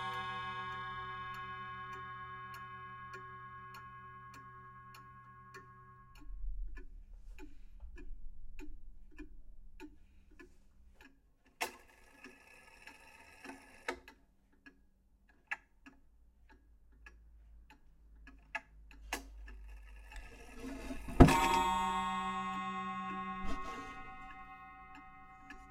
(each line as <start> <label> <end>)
0.0 wall clock chiming 10.2
0.0 ticking noise 25.7
19.1 wall clock chiming 25.7